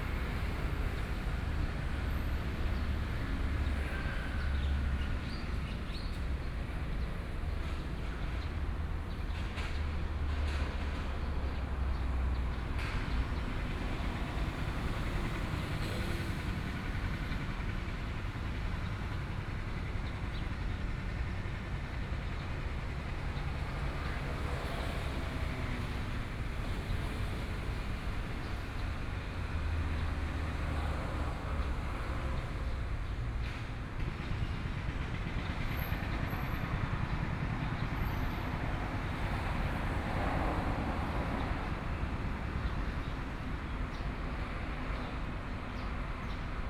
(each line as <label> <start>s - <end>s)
Road construction noise 0.0s - 46.6s
Traffic Sound 0.0s - 46.6s